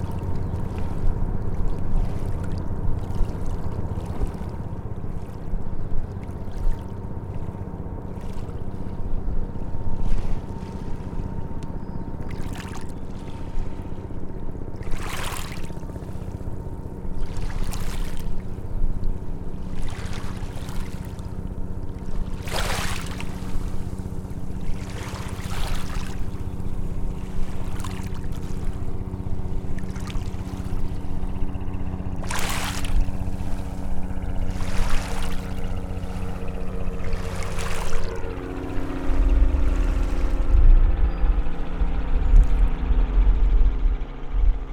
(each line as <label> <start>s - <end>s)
helicopter flying overhead 0.0s - 44.7s
waves lapping from ferry 0.0s - 44.7s
Ferry departure 21.1s - 44.7s